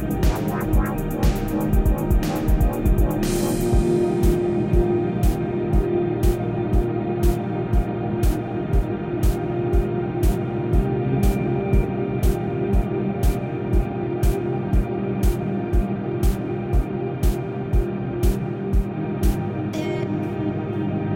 0.0s drums 19.5s
19.7s vocal 20.3s

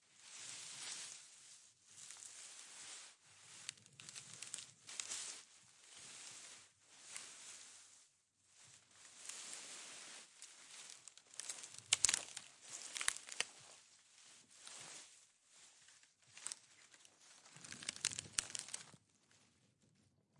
8.7s Bush Rubbing Movement 18.9s

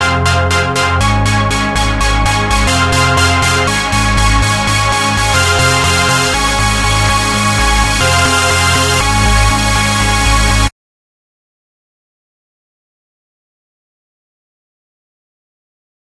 0.0s Epic Chord Rise 10.7s

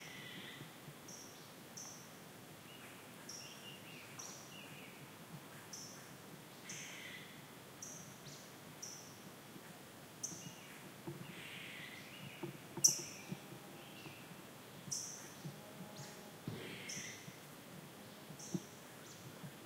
10.2s Birds Chirping 17.4s
18.0s Birds Chirping 19.4s

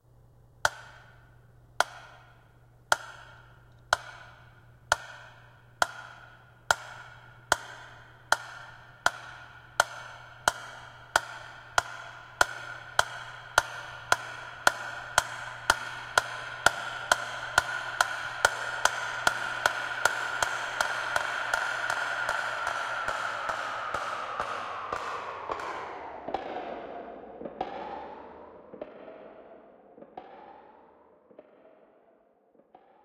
0.6s Creative Tempo Clock 25.6s

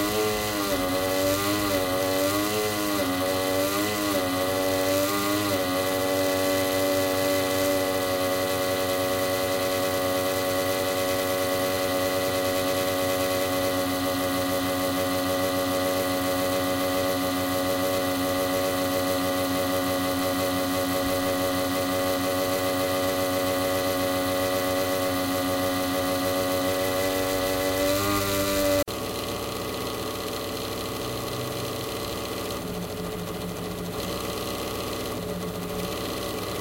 0.0s broken pc cooler 36.6s

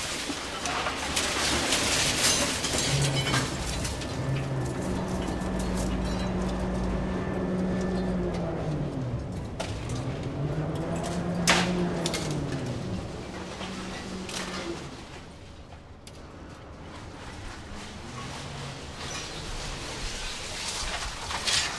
0.0s crane collecting the metal waste and loading it onto a ship 21.7s

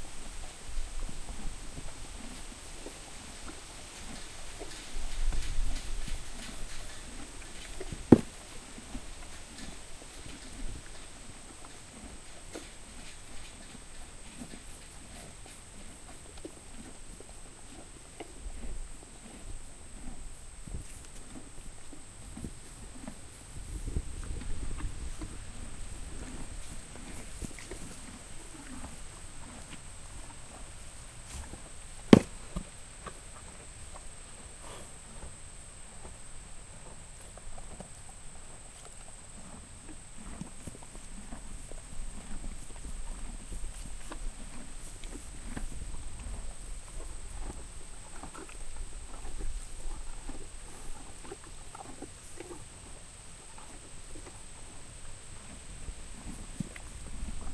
0.0s HORSE EATING GRASS 57.5s
22.4s wind noise 28.2s
34.6s snorts 35.0s

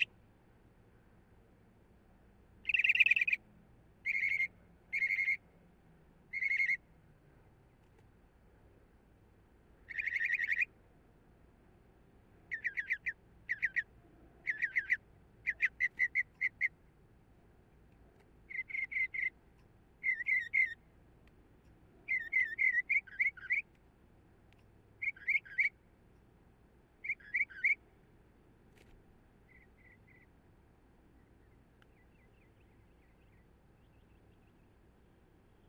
2.6s Northern Mockingbird's various different calls 3.4s
4.0s Northern Mockingbird's various different calls 5.5s
6.3s Northern Mockingbird's various different calls 6.9s
9.8s Northern Mockingbird's various different calls 10.7s
12.4s Northern Mockingbird's various different calls 16.8s
18.4s Northern Mockingbird's various different calls 20.9s
22.0s Northern Mockingbird's various different calls 23.8s
24.6s Northern Mockingbird's various different calls 25.8s
27.0s Northern Mockingbird's various different calls 27.8s
29.4s Northern Mockingbird's various different calls 30.4s
31.1s Northern Mockingbird's various different calls 34.9s

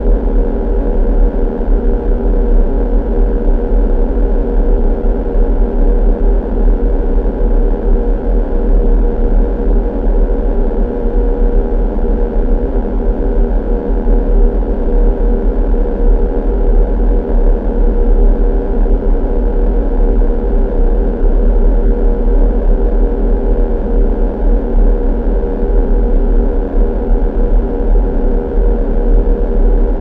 0.0s Res LowDrone 30.0s

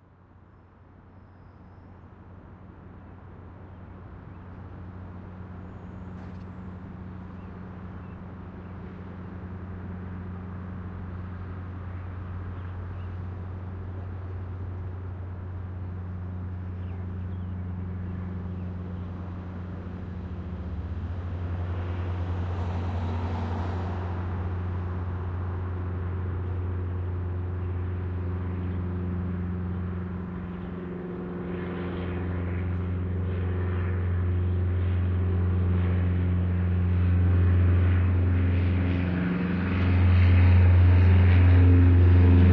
0.0s low flying airplane 42.5s

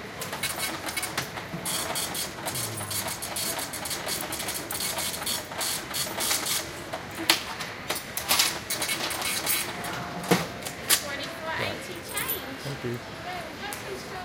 0.2s register printing and beeping 6.8s
8.2s register printing and beeping 11.5s

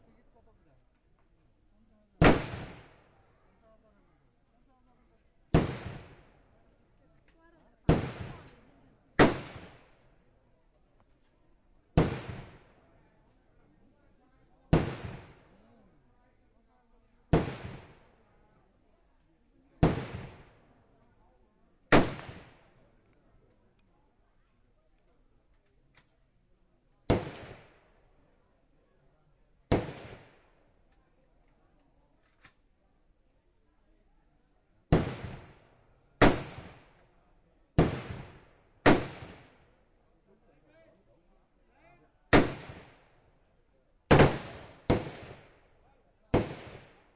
2.2s other guns 3.2s
2.2s m16 3.3s
5.5s m16 10.2s
5.5s other guns 10.2s
9.2s real rounds of AK47 9.9s
11.0s other guns 13.4s
11.9s m16 13.0s
14.6s m16 15.6s
14.6s other guns 15.8s
17.2s other guns 18.2s
17.3s m16 18.2s
19.8s m16 21.1s
19.8s other guns 21.2s
21.8s other guns 23.8s
21.9s m16 23.2s
21.9s real rounds of AK47 22.6s
27.0s other guns 28.1s
27.0s m16 28.2s
27.1s real rounds of AK47 27.7s
29.6s m16 31.0s
29.6s other guns 32.8s
29.7s real rounds of AK47 30.4s
34.8s m16 39.9s
34.8s other guns 40.0s
34.9s real rounds of AK47 35.6s
36.2s real rounds of AK47 37.0s
37.8s real rounds of AK47 39.6s
42.3s real rounds of AK47 43.0s
42.3s m16 47.1s
42.3s other guns 47.1s
44.1s real rounds of AK47 45.6s
46.3s real rounds of AK47 47.1s

